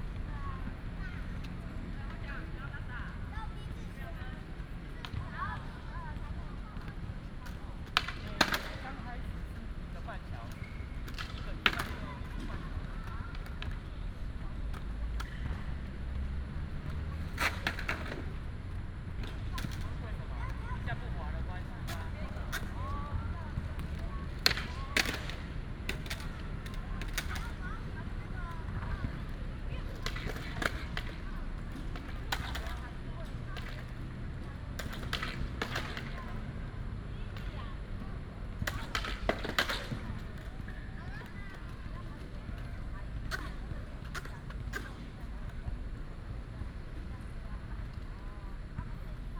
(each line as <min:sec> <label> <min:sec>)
0:10.4 skateboard 0:13.8
0:16.9 skateboard 0:18.4
0:23.7 skateboard 0:27.6
0:29.9 skateboard 0:34.0
0:34.8 skateboard 0:36.4
0:38.6 skateboard 0:45.6